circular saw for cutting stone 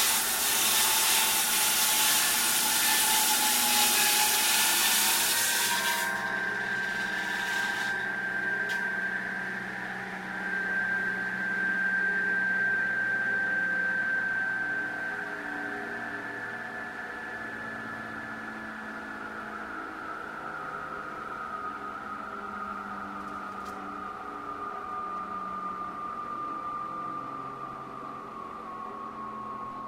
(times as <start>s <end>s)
0.0s 9.9s